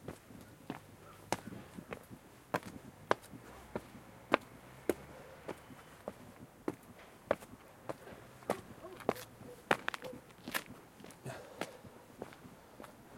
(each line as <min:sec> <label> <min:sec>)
0:00.0 walk 0:13.0
0:05.0 breathing 0:05.5
0:11.2 breathing 0:12.1